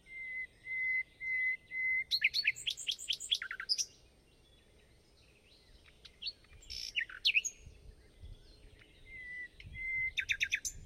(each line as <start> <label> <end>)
0.0 nightingale song 10.8